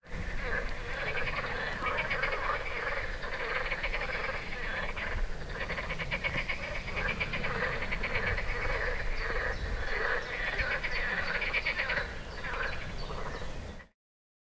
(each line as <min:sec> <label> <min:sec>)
0:00.0 Frog's song 0:13.9
0:00.2 birds 0:13.9